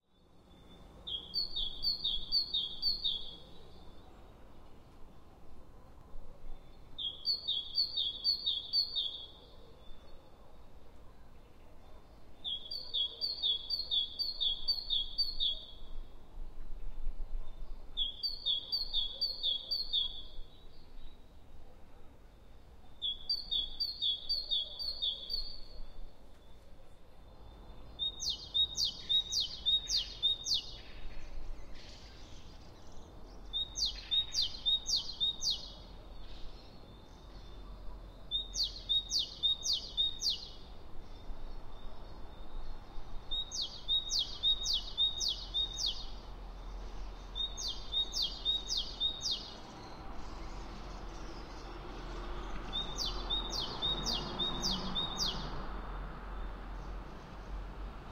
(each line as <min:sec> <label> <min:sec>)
0:17.4 birds 0:57.7